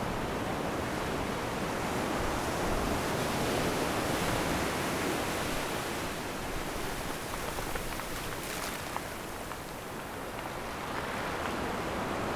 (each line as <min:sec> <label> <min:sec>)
0:08.2 waves 0:12.3